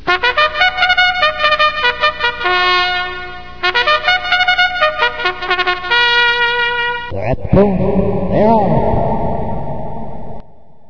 Horse race track opening trumpet sound 0:00.1 - 0:07.1
announcer 0:06.9 - 0:10.2

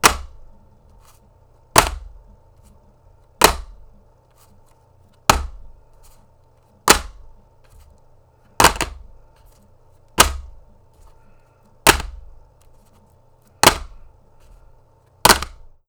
DVD case fall and drop to the floor 0:08.6 - 0:09.0
DVD case fall and drop to the floor 0:10.2 - 0:10.5
DVD case fall and drop to the floor 0:11.9 - 0:12.2
DVD case fall and drop to the floor 0:15.2 - 0:15.6

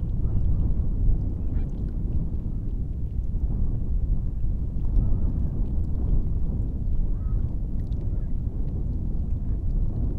wind 0:00.0 - 0:10.1

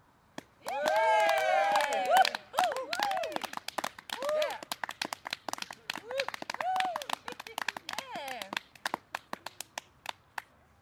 clapping 0:00.4 - 0:10.5
cheering 0:00.6 - 0:03.5
cheering 0:04.2 - 0:04.7
cheering 0:06.0 - 0:07.1

